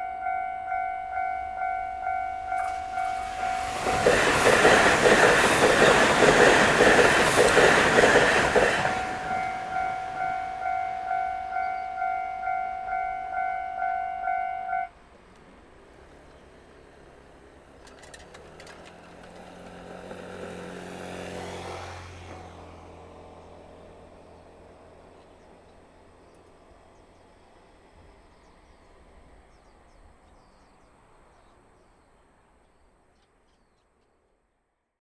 Train traveling through 0:00.0 - 0:28.2

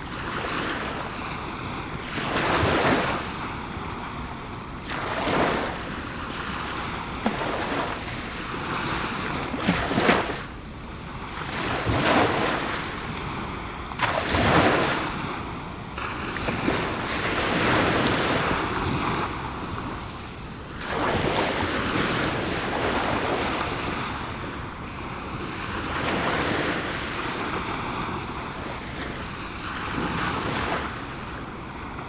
small waves 0:00.0 - 0:32.0

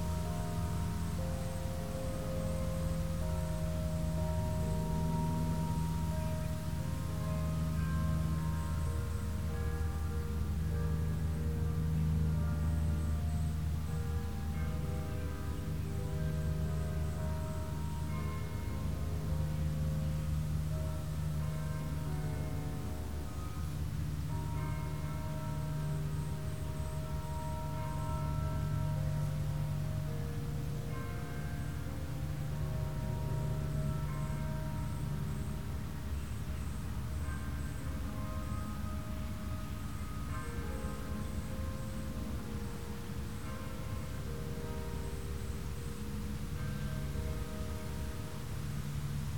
Churchbell songs 0:00.0 - 0:49.3
layers of crickets 0:00.0 - 0:49.3

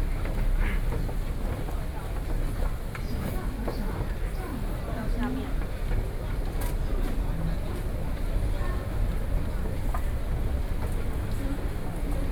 walking into the Taipei Main Station 0:00.0 - 0:12.3

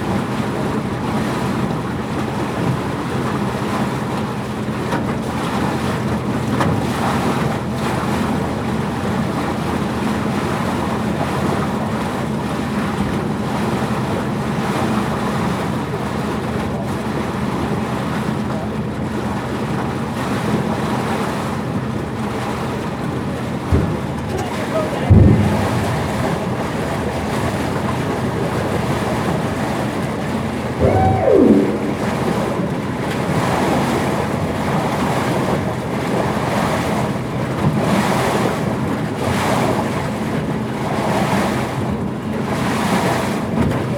Crossing the Rhine with the ferry boat 0:00.0 - 0:43.9

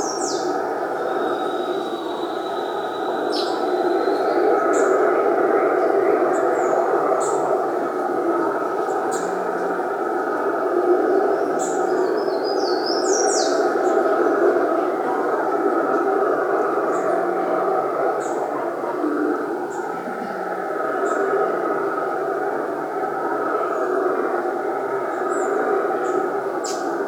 birds 0:00.0 - 0:21.4
birds 0:25.1 - 0:27.0

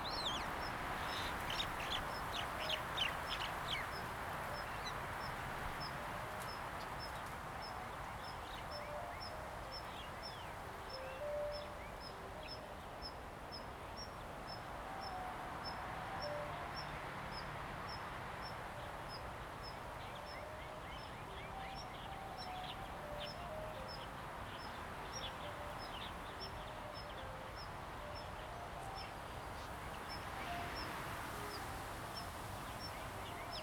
Birds singing 0:00.0 - 0:06.0
Wind 0:00.0 - 0:33.6

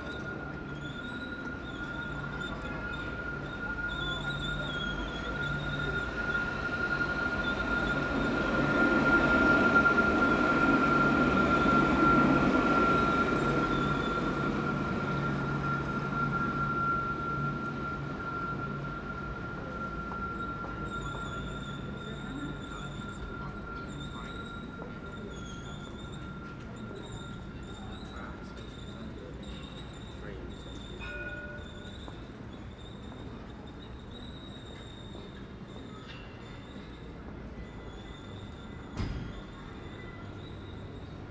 trams pass by 0:00.0 - 0:41.3

